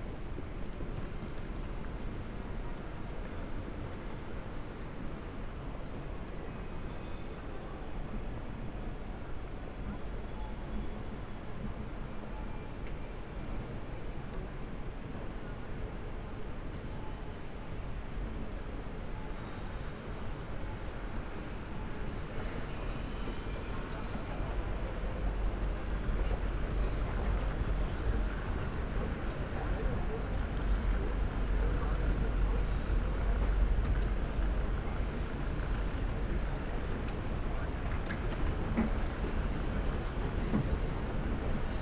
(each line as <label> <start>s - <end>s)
walking in the hall 20.4s - 41.8s